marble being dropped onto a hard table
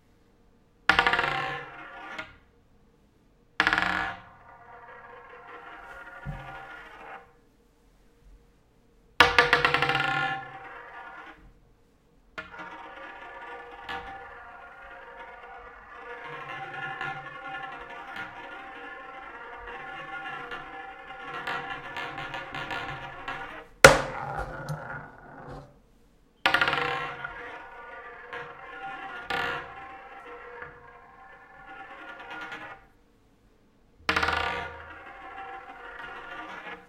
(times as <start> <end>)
19.7 25.8, 34.1 36.8